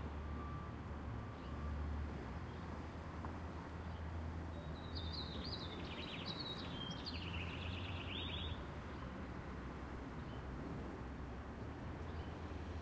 Birds can be heard chirping 0:03.8 - 0:09.1

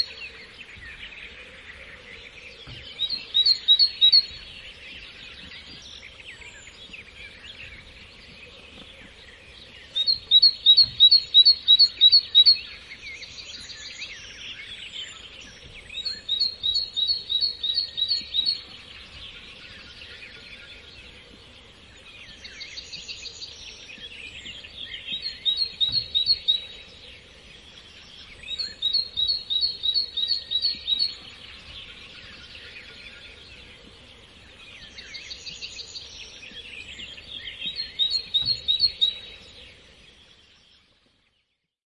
other birds in the bg 0:00.0 - 0:41.7

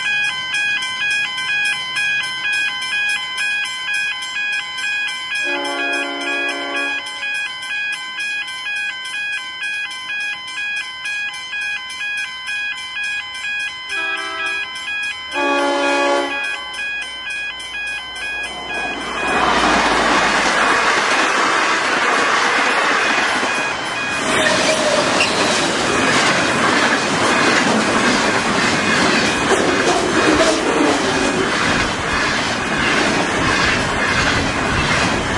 crossing alarm 0:00.0 - 0:35.3
train 0:00.0 - 0:35.3
train horns 0:05.4 - 0:07.3
train horns 0:13.9 - 0:14.7
train horns 0:15.3 - 0:16.9
train horns 0:21.2 - 0:22.0

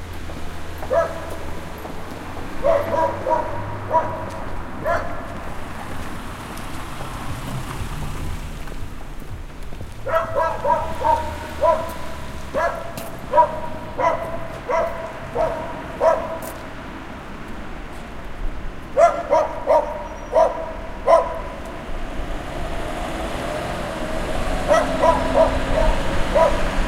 steps 0:00.0 - 0:19.2
passing by cars 0:00.0 - 0:26.8
barking dog 0:00.8 - 0:01.6
barking dog 0:02.6 - 0:05.4
barking dog 0:10.0 - 0:16.6
barking dog 0:19.0 - 0:21.6
barking dog 0:24.6 - 0:26.8

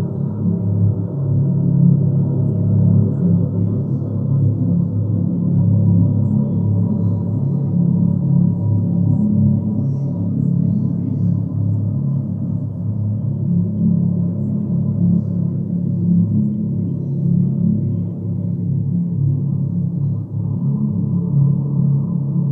low, watery tones 0:00.0 - 0:22.5

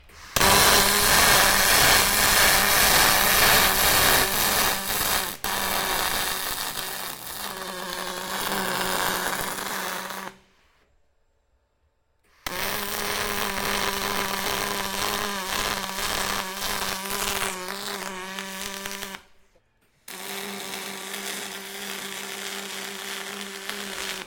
aluminium welder recorded in action 0:00.0 - 0:10.4
aluminium welder recorded in action 0:12.4 - 0:19.4
aluminium welder recorded in action 0:20.1 - 0:24.2

